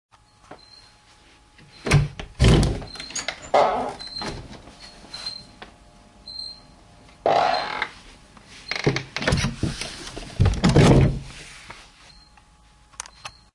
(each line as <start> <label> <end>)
1.6 noisy door opening and closing 8.0
8.7 noisy door opening and closing 11.3